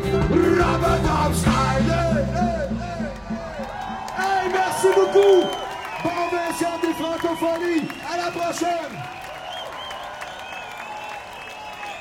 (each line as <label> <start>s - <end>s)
music live performance 0.0s - 5.7s
cheering 2.3s - 12.0s
a guy says something in French to the audience 4.2s - 9.0s